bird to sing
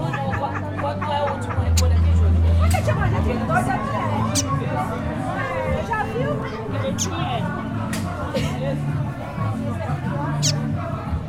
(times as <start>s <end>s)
1.7s 1.9s, 6.9s 7.2s, 10.4s 10.6s